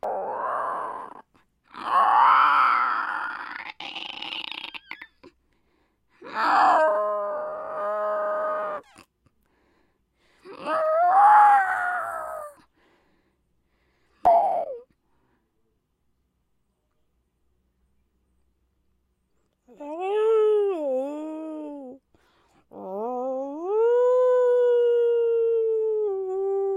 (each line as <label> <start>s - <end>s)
howls 0.0s - 5.1s
snarls 0.0s - 5.3s
roar 0.0s - 5.0s
growls 0.0s - 5.2s
howls 6.2s - 8.9s
growls 6.2s - 9.1s
howls 10.5s - 12.7s
howls 22.7s - 26.7s